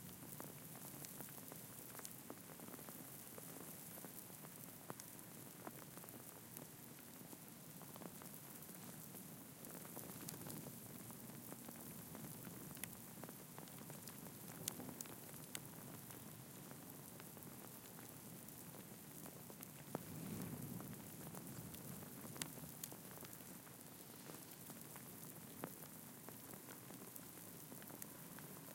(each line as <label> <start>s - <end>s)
wind 0.0s - 28.7s
ice storm 19.8s - 22.8s